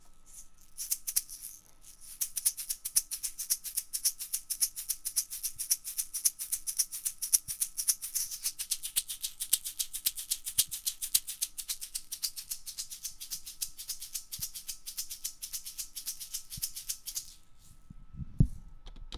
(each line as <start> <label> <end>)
0.0 egg shaker 17.8